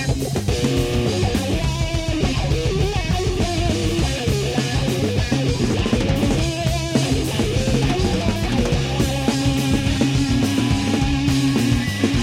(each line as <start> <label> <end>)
0.0 Wah Guitar Jam 12.2